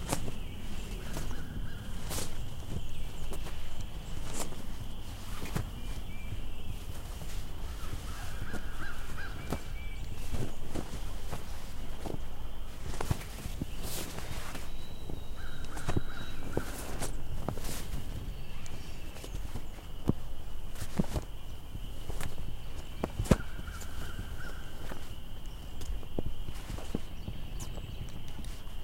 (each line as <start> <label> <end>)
0.0 Birds 28.8
0.0 Flag Flapping 28.8
0.0 wind 28.8